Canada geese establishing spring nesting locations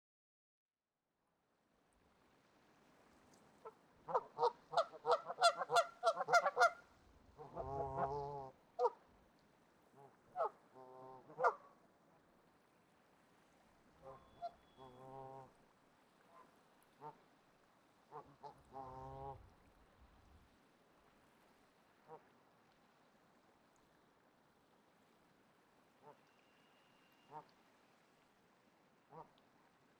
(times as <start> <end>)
3.6 6.8, 7.4 9.0, 10.0 11.6, 14.0 15.5